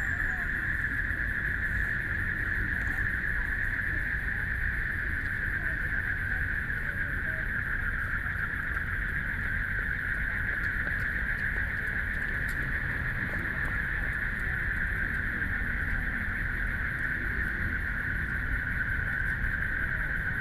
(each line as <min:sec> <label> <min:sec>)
0:00.0 People walking and running 0:04.5
0:00.0 Traffic Sound 0:07.5
0:00.0 Frogs sound 0:20.4